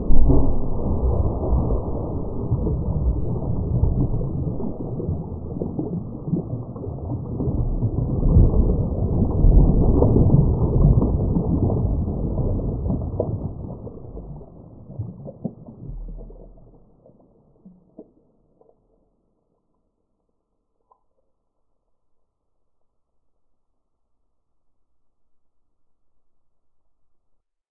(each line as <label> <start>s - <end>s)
underwater landslide 0.0s - 18.8s
bubble 0.0s - 19.9s